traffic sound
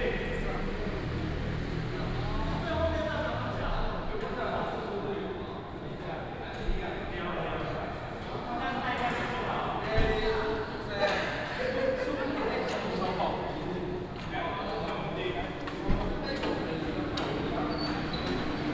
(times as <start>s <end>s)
0.0s 4.9s, 15.6s 18.7s